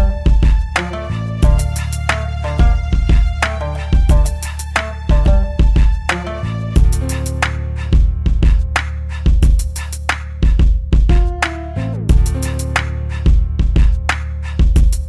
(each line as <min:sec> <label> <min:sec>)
0:00.0 Hip Hop BACKGROUND 0:15.0